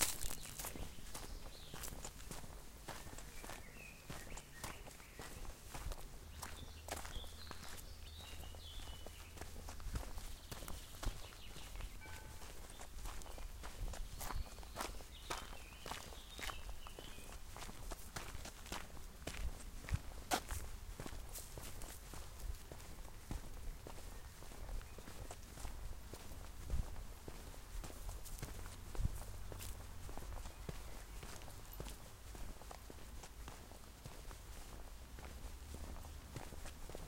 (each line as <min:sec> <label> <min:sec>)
0:00.0 birds 0:33.9
0:00.0 footsteps 0:37.0
0:27.4 cars in distance 0:32.9